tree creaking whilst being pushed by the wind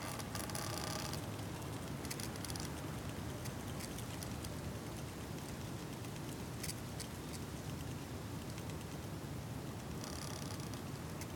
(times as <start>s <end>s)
0.0s 1.4s, 2.1s 2.8s, 9.9s 11.3s